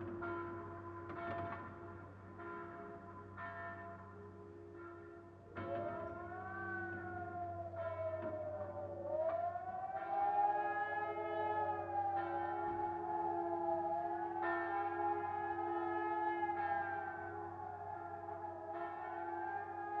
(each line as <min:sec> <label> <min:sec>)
0:00.0 church bells tolling 0:20.0
0:06.0 siren test 0:20.0